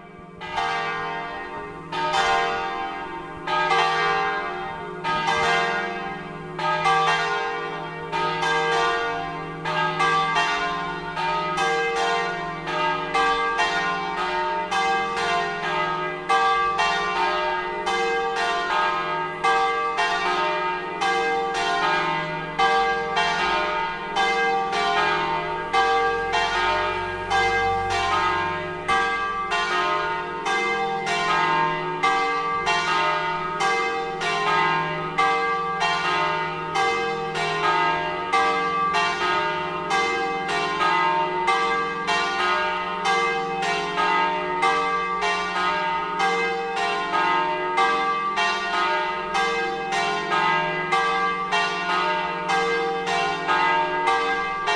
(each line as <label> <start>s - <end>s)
bell tower 0.0s - 54.7s